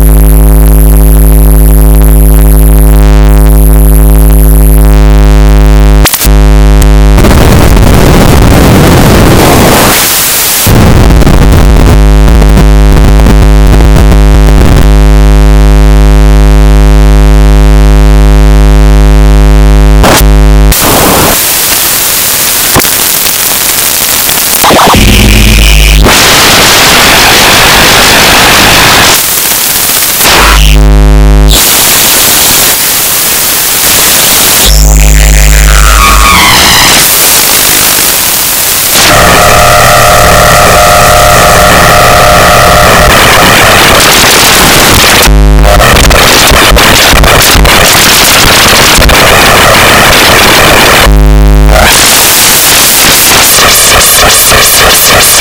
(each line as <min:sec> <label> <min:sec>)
0:24.8 live modular jamb 0:27.4